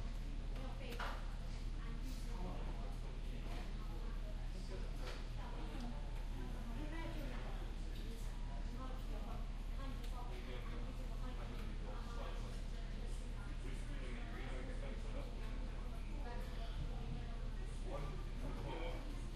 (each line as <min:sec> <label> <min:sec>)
0:00.0 low tv sounds 0:19.3